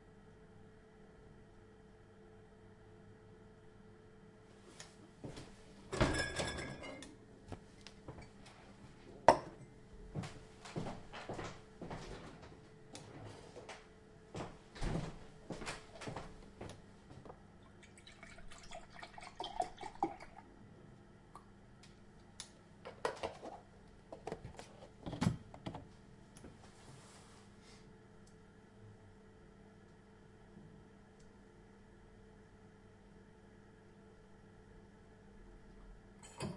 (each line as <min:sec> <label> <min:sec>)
0:00.0 central gas heating 0:36.5
0:10.1 steps on the wooden floor 0:17.4